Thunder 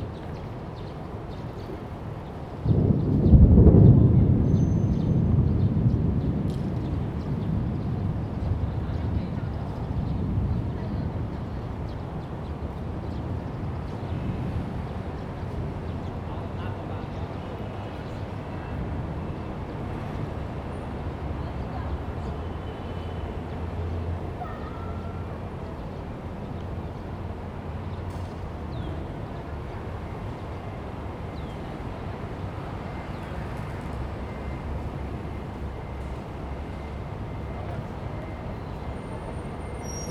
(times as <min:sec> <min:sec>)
0:02.6 0:10.8